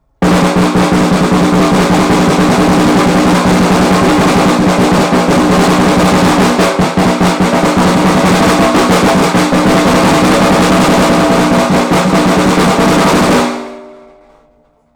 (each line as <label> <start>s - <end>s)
snare drum roll 0.2s - 14.6s